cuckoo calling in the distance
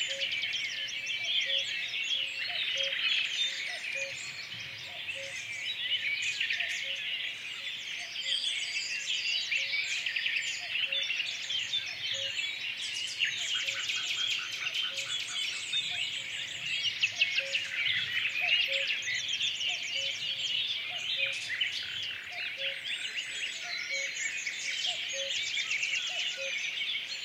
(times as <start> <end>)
0.0 5.6, 17.1 21.5, 22.3 24.2, 24.9 26.7